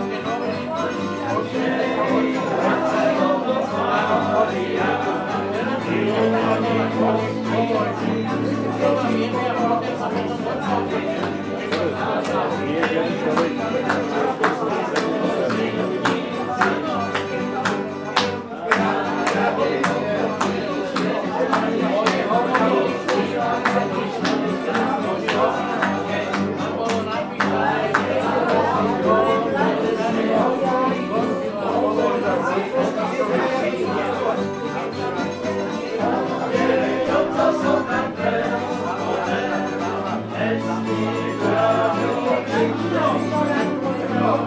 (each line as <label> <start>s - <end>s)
drinking and singing together 0.0s - 44.4s